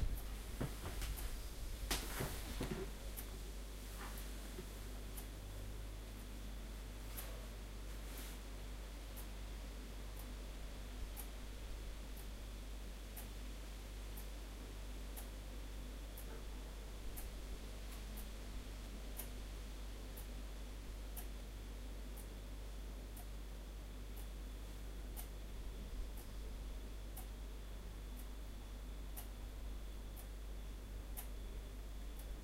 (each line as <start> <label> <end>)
0.0 the fridge's sound 9.4
0.0 Clock on the wall 32.4